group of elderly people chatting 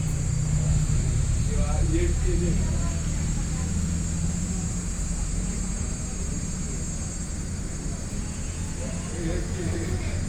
0:08.7 0:10.2

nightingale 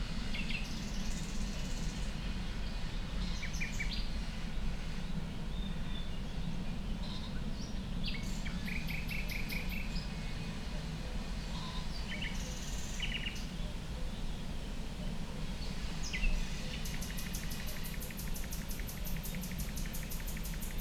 0:16.0 0:20.8

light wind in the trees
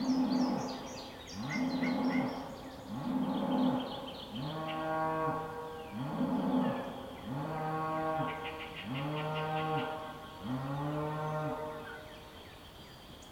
0:08.0 0:13.3

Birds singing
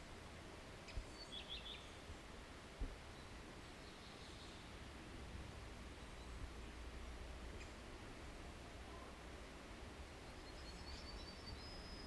0:00.9 0:02.1, 0:03.1 0:04.8, 0:10.2 0:12.0

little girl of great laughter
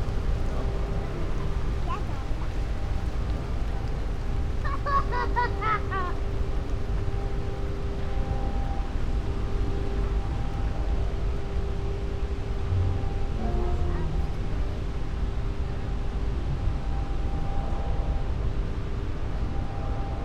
0:04.6 0:06.2

